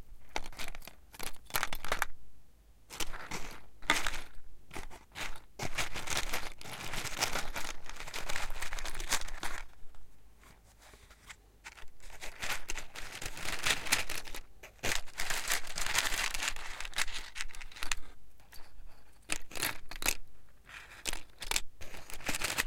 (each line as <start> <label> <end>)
2.9 Box of matches 9.9
10.8 Box of matches 22.6